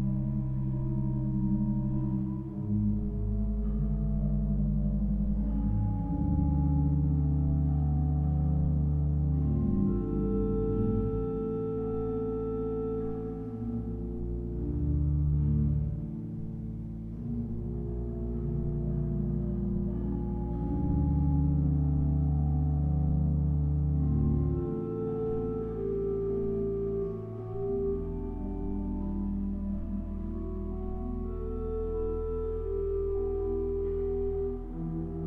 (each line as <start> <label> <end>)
0.0 organ practice 35.2